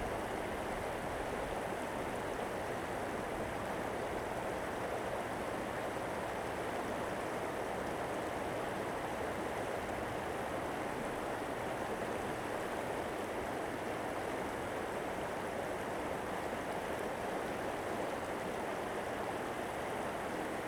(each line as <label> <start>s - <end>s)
Stream 0.0s - 20.6s